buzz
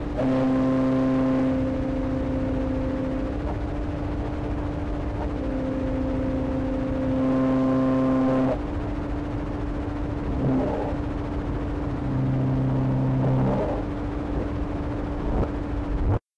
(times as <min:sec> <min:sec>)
0:00.0 0:08.7, 0:10.3 0:11.1, 0:11.9 0:14.5